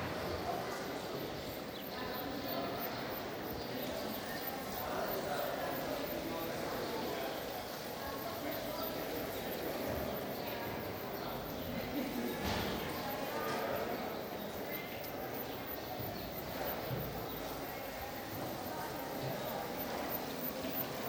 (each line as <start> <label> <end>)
0.0 voices 21.0